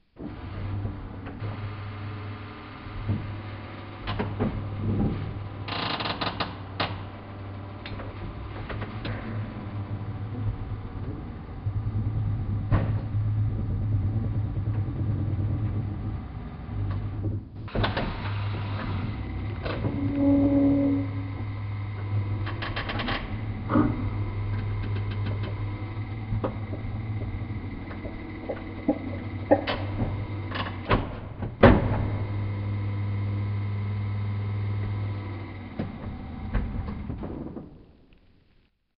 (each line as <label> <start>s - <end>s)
Coffee machine - Mechanism 4X slow 0.2s - 37.3s